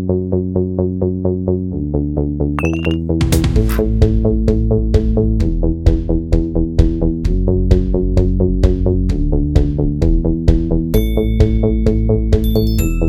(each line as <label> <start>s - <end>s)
bass 0.0s - 13.0s
glockenspiel 2.6s - 3.0s
drum 2.8s - 4.1s
glockenspiel 11.0s - 13.0s